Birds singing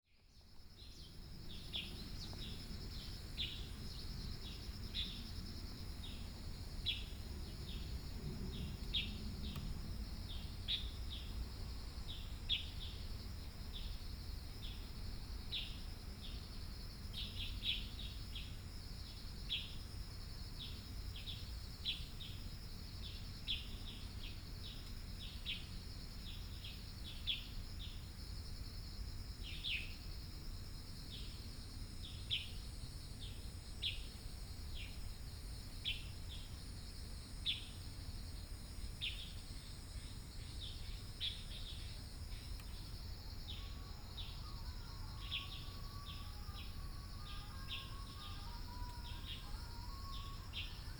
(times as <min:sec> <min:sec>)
0:40.6 0:50.9